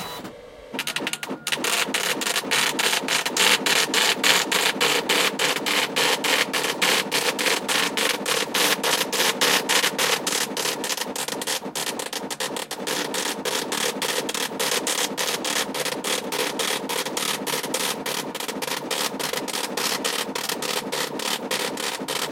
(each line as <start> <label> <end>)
0.0 braille emboser which prints text as a braile output 22.3